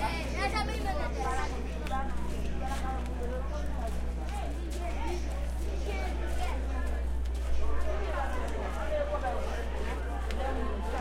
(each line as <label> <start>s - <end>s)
PA voices pass by 0.0s - 11.0s
people 0.0s - 11.0s
steps 1.8s - 11.0s